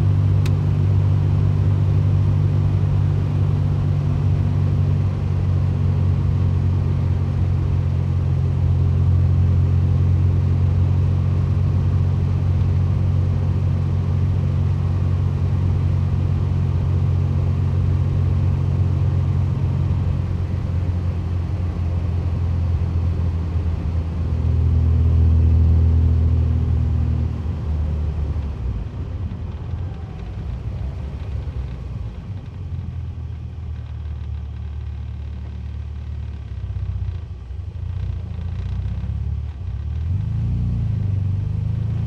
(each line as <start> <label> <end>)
0.0 Car start and drive interior vintage MG convertable 42.0